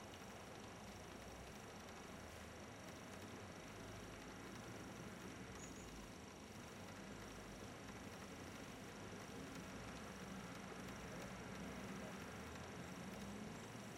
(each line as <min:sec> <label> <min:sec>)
0:05.5 bird is singing not very far away 0:06.0